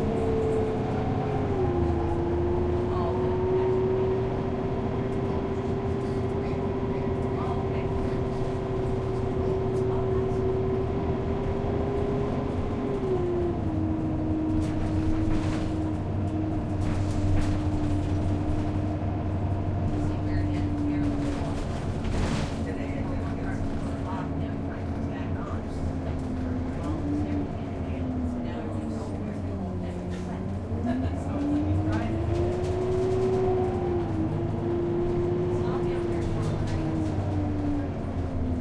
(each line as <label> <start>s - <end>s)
Conversation among passengers 0.0s - 38.6s
bus is just idling 0.0s - 38.6s
people boarding 12.9s - 38.6s